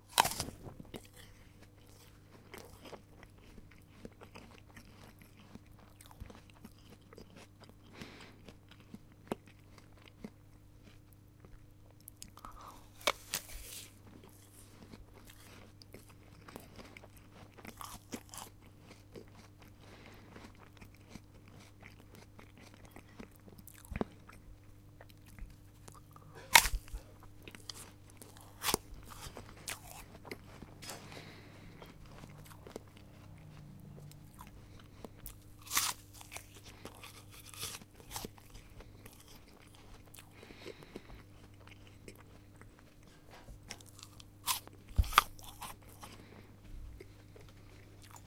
Eating apple 0:00.0 - 0:48.2

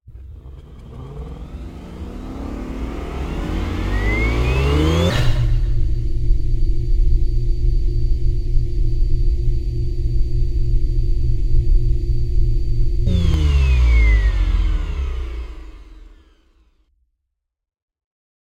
Spaceship starup and shutdown 0:00.1 - 0:07.3
Spaceship starup and shutdown 0:13.0 - 0:16.6

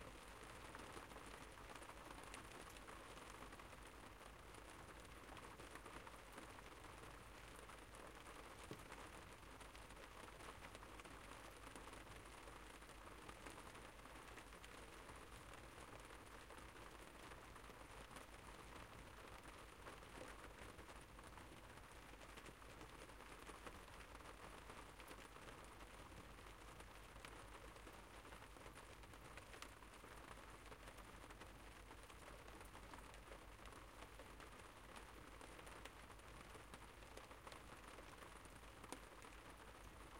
rain 0:00.0 - 0:40.1

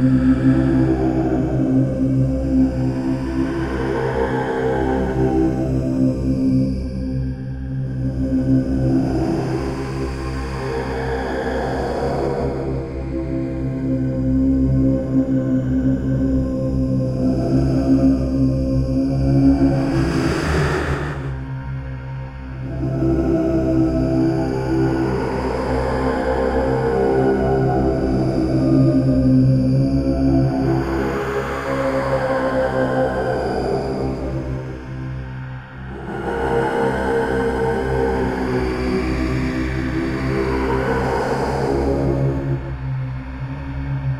drone 0:00.0 - 0:44.1

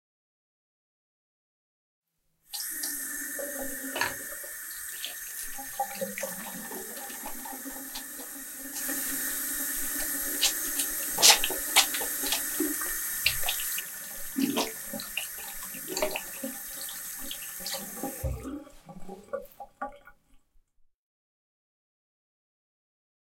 woman washes her hands with soap 0:02.6 - 0:20.3

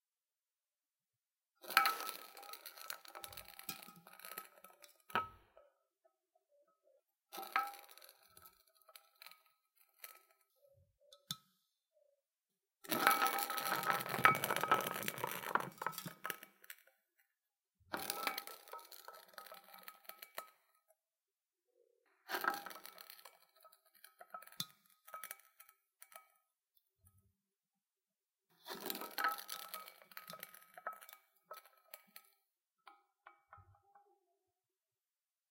Rolling Can 0:01.6 - 0:05.4
Rolling Can 0:07.4 - 0:10.4
Rolling Can 0:12.8 - 0:16.9
Rolling Can 0:17.9 - 0:20.6
Rolling Can 0:22.3 - 0:26.2
Rolling Can 0:28.6 - 0:32.4

